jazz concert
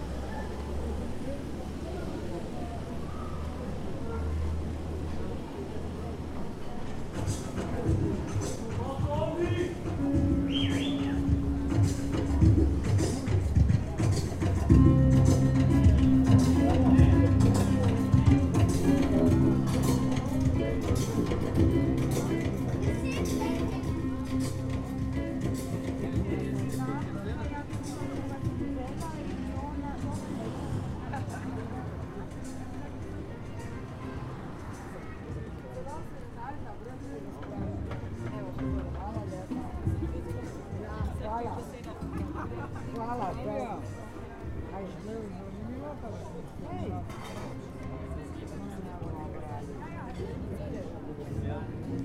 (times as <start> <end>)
9.7 28.7